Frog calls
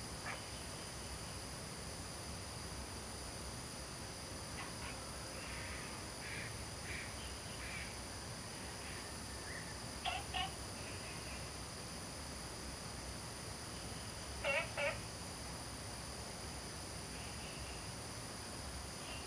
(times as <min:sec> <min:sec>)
0:10.0 0:10.6, 0:14.4 0:15.1